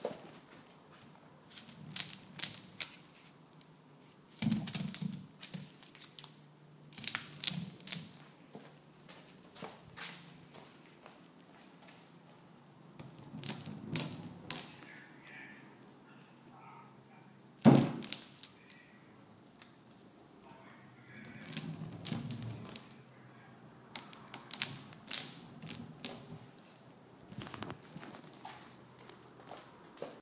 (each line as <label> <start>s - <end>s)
onion rolling on counter and on wood table 1.4s - 8.3s
onion rolling on counter and on wood table 13.0s - 15.0s
onion rolling on counter and on wood table 21.2s - 23.0s
onion rolling on counter and on wood table 23.9s - 26.6s